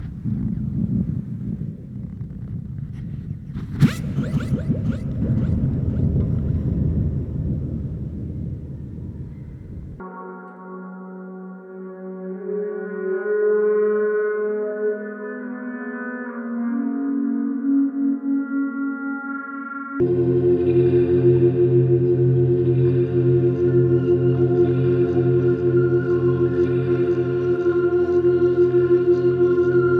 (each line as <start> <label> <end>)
0.0 Pads 10.1